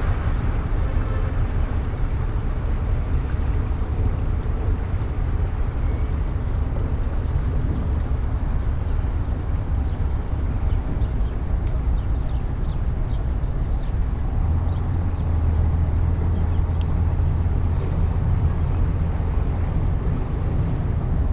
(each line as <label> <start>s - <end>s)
boat coming from the Dahme into the Spree 0.0s - 21.3s